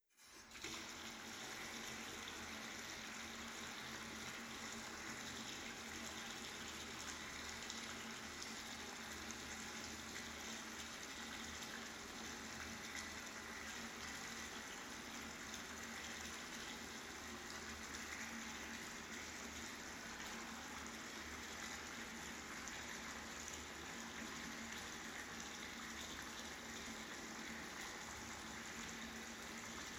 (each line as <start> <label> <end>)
0.2 bathtub turning on, running and turning off 29.9